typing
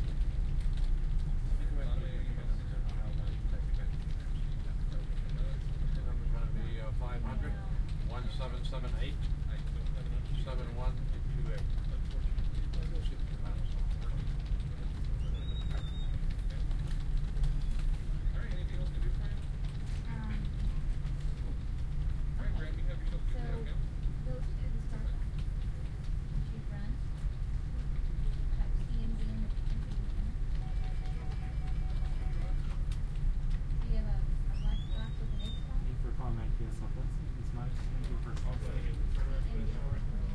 7.9 22.2, 27.9 33.7

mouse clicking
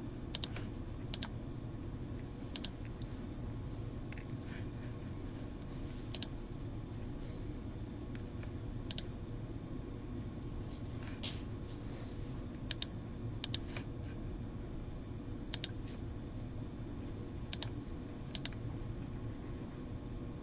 0.3 1.3, 2.5 3.1, 6.1 6.3, 8.9 9.1, 12.6 13.8, 15.5 15.8, 17.5 18.6

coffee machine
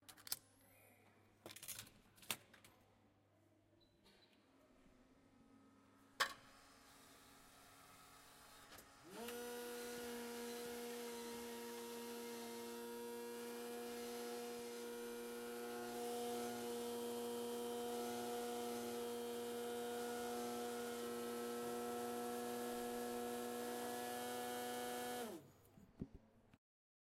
6.2 25.4

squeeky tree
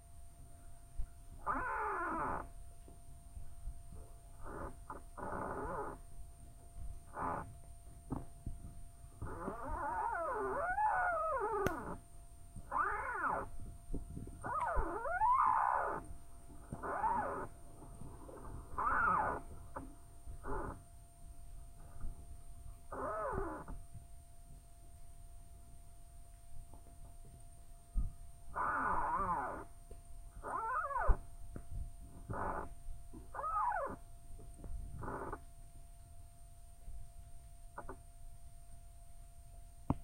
0.9 6.2, 6.8 21.0, 21.8 23.9, 28.0 35.6

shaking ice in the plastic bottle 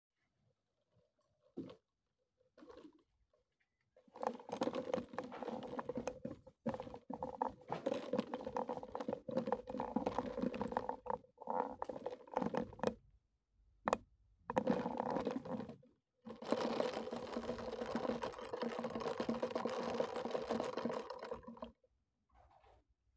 16.3 21.7

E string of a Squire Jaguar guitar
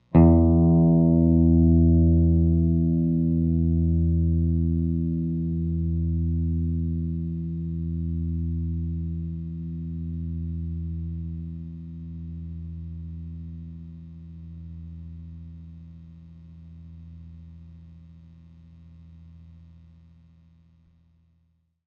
0.1 13.9

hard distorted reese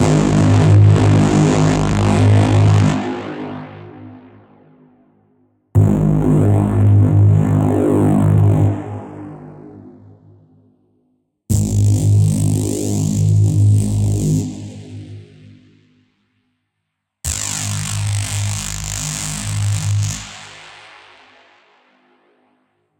0.0 2.9

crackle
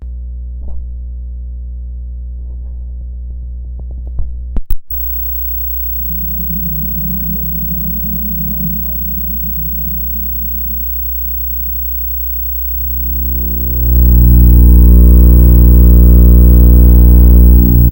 4.7 17.9

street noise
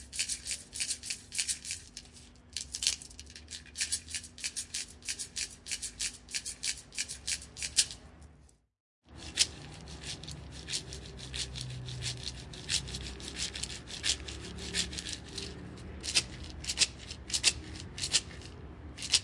9.1 19.2

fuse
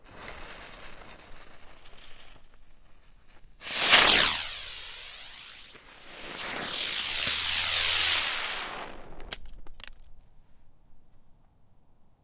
3.3 9.7

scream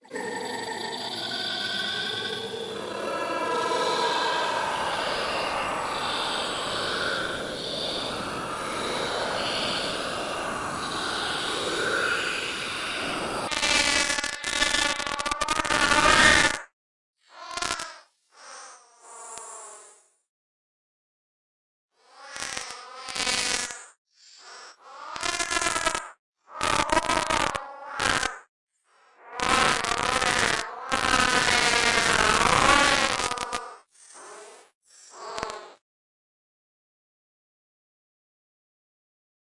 0.0 16.5

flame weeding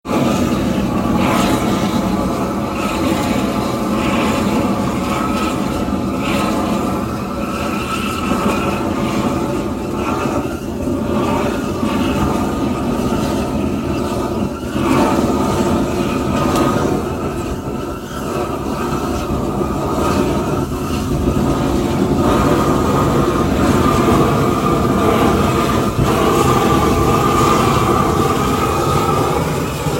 13.0 29.9

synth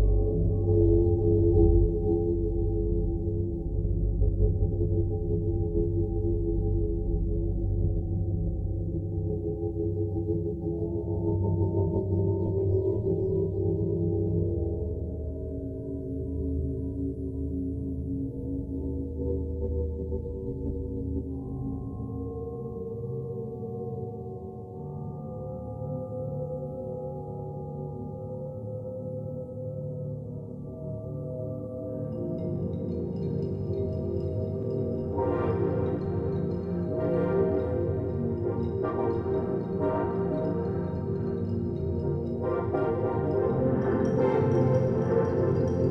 34.0 45.9

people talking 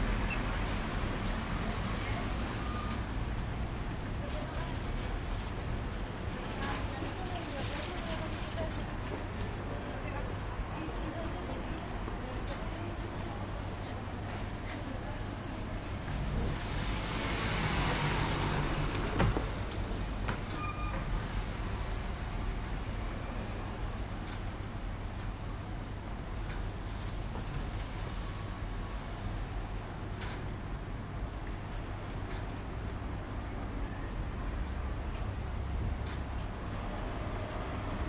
6.5 16.2

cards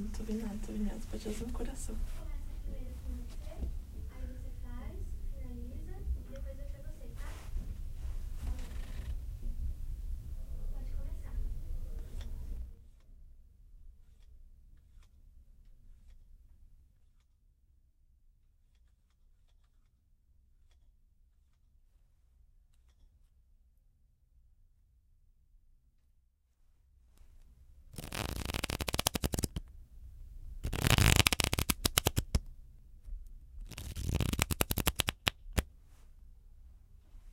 28.0 29.7, 30.6 32.5, 33.6 35.7

